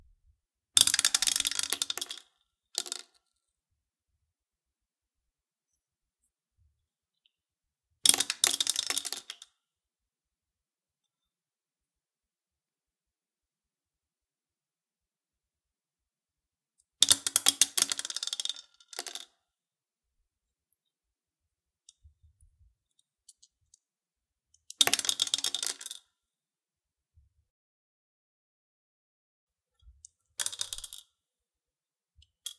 DICE - multiple rolls 0:00.8 - 0:03.3
DICE - multiple rolls 0:08.1 - 0:09.6
DICE - multiple rolls 0:17.0 - 0:19.4
DICE - multiple rolls 0:24.6 - 0:26.2
DICE - multiple rolls 0:29.8 - 0:31.2
DICE - multiple rolls 0:32.2 - 0:32.5

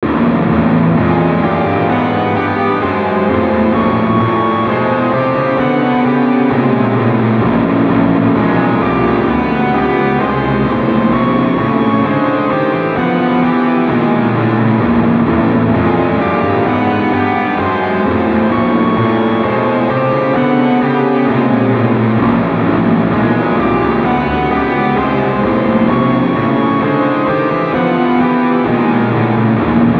guitar 0:00.0 - 0:29.9

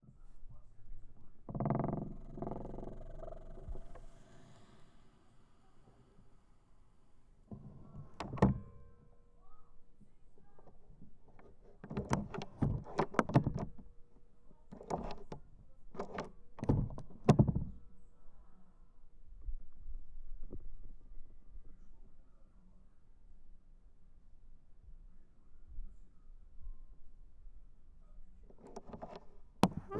Old soviet door with a old lock 0:10.8 - 0:13.8
Old soviet door with a old lock 0:14.7 - 0:15.4

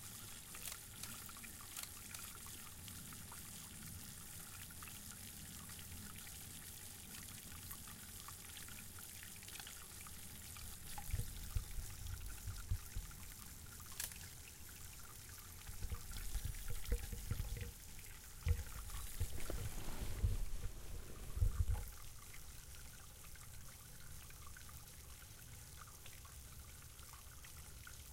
water 0:00.0 - 0:28.1

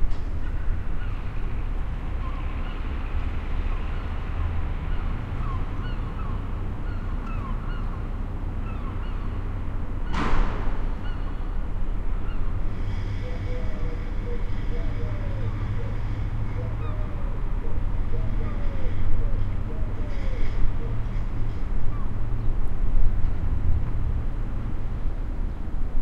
seagulls 0:04.9 - 0:09.4
seagulls 0:10.9 - 0:11.6

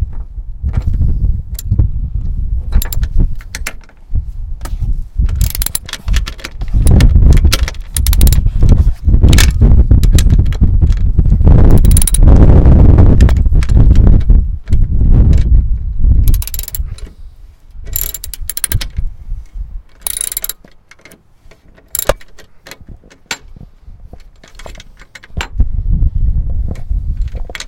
rachet on a bolt on a car engine 0:02.8 - 0:03.9
rachet on a bolt on a car engine 0:05.3 - 0:08.7
rachet on a bolt on a car engine 0:11.7 - 0:12.3
rachet on a bolt on a car engine 0:16.2 - 0:17.2
rachet on a bolt on a car engine 0:17.9 - 0:19.0
rachet on a bolt on a car engine 0:19.9 - 0:23.6

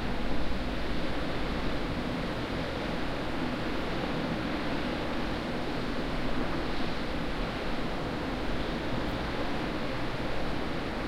wind 0:00.0 - 0:11.0

